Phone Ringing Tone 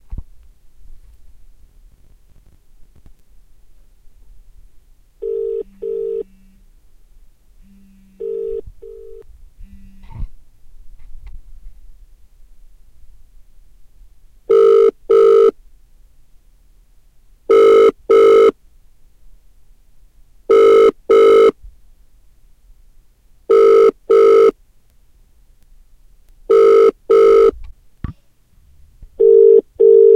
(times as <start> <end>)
5.2 6.6, 8.0 9.2, 14.5 15.5, 17.5 18.5, 20.5 21.6, 23.5 24.6, 26.5 27.5, 29.2 30.1